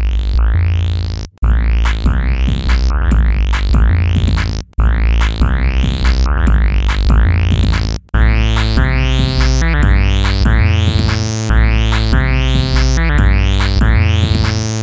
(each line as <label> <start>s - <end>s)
dubstep bass 0.0s - 14.8s
Drum 1.4s - 14.8s
synth 8.2s - 14.8s